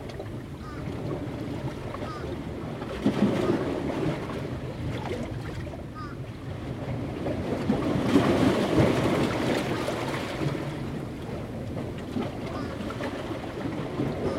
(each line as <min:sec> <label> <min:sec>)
0:00.0 surf traveling within the 60-year-old rock and timber jetty 0:14.3